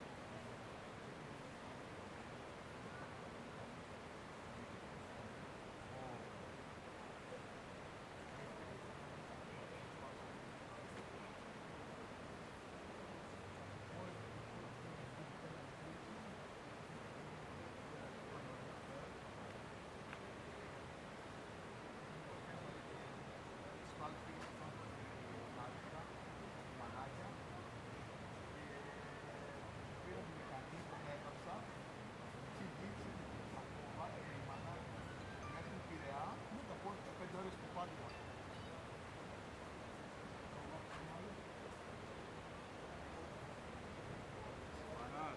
River flow 0.0 - 45.3
light traffic 0.0 - 45.3
people talking distant 0.0 - 45.3
men discussing 13.9 - 45.3

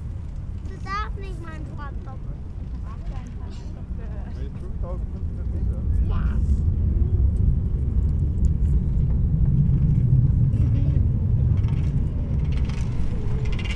pedestrians 0.0 - 13.7
various deep drones in the air 6.5 - 13.7
kites 7.2 - 13.7
bikes 7.4 - 13.7

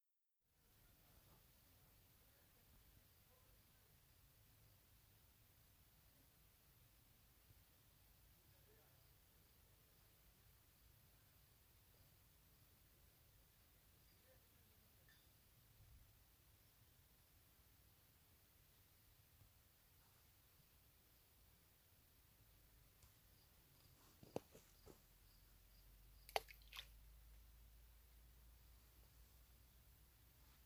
pebbles in the lake 26.2 - 27.0

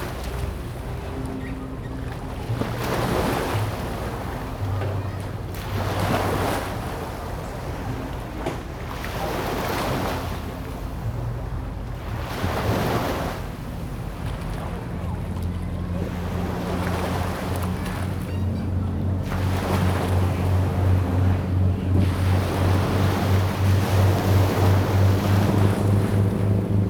Yacht travel by river 0.0 - 26.8
tide 0.0 - 26.8

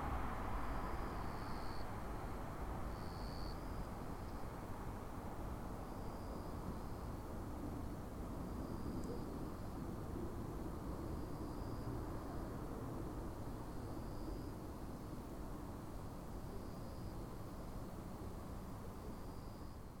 distant cars passing by 0.0 - 16.0
Cicadas (jr something similar) singing 2.8 - 4.6
Cicadas (jr something similar) singing 13.2 - 20.0

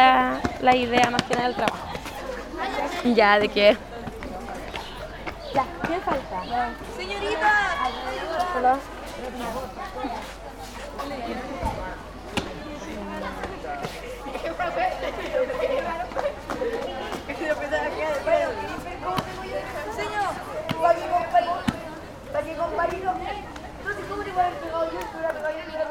kids, who are putting up poster and cardboards 7.8 - 14.5

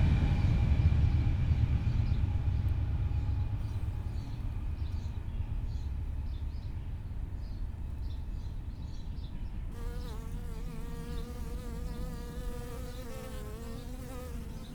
train passing nearby 0.0 - 9.8

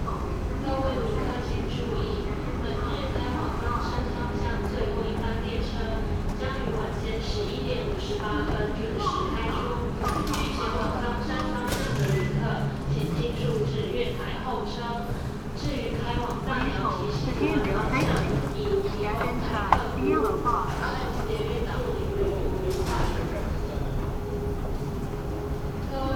Message broadcasting stations 17.4 - 26.1
Escalator message broadcasting 17.5 - 26.1

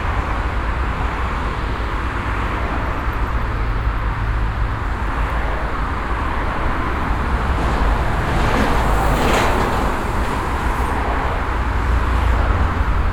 Traffic passing by from both directions 0.0 - 13.1

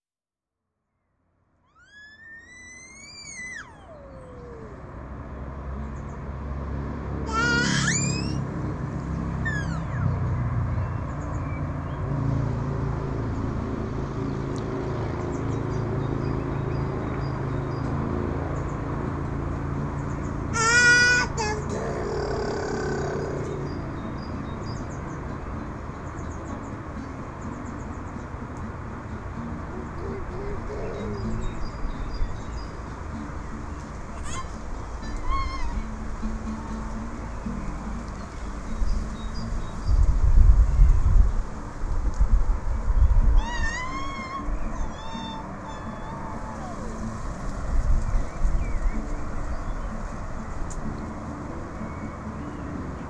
birds 14.2 - 40.8
birds 42.9 - 53.0

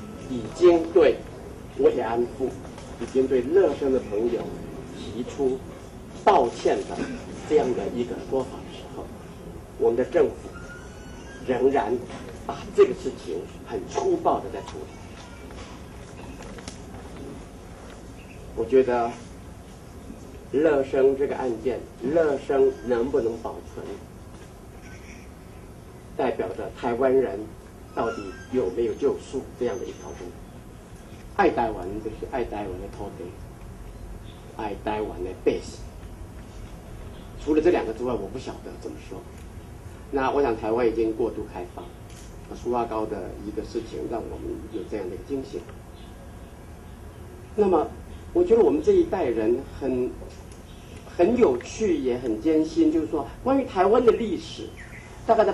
Press conference 0.0 - 55.5

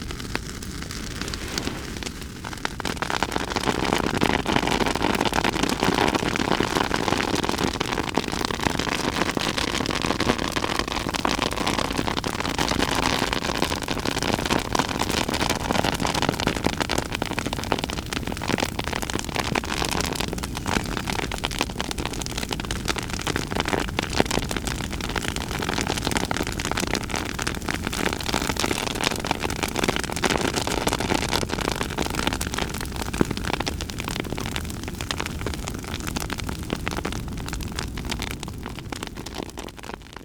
Burning Laurel Leaves 0.0 - 6.6

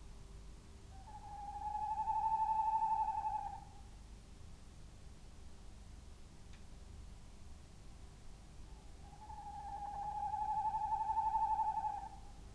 little owl 1.0 - 3.7
tawny owls calls 1.0 - 3.8
pheasants calling 1.1 - 3.7
tawny owls calls 9.0 - 12.3
pheasants calling 9.0 - 12.2
little owl 9.0 - 12.3

